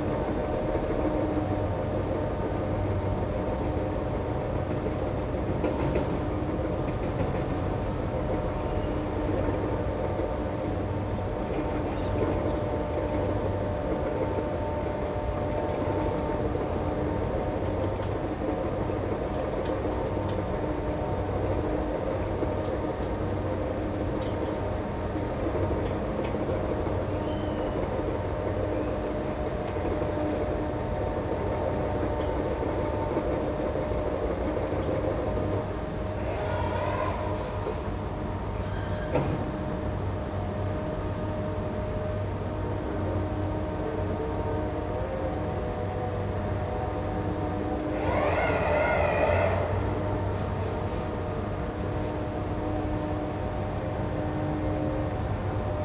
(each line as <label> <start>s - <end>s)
other heavy machines 44.3s - 55.8s